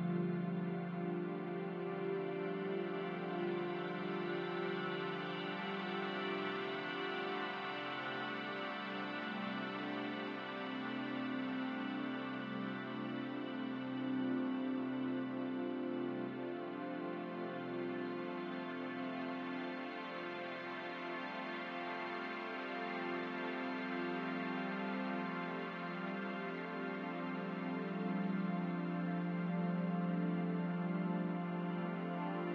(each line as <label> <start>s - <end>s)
ambient music 0.0s - 32.5s